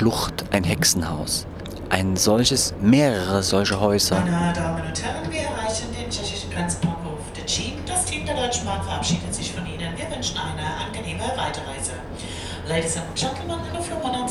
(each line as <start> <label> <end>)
0.0 train 14.3